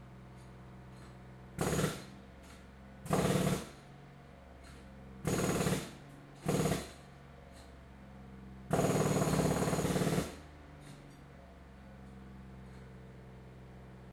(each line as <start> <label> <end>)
0.0 diesel powered compressor 14.1
1.0 saw 3.8
1.0 jackhammer 3.9
4.6 saw 7.0
4.6 jackhammer 7.7
8.7 jackhammer 11.0
8.7 saw 11.1